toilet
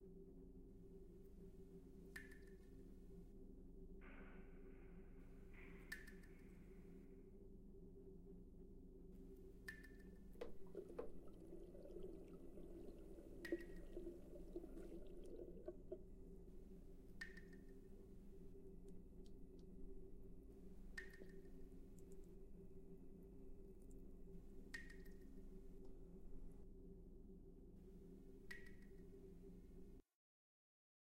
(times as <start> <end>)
10.4 16.4